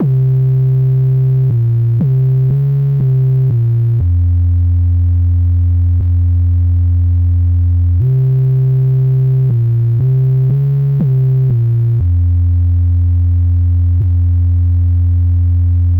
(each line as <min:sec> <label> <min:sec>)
0:00.0 bass synthesiser 0:15.9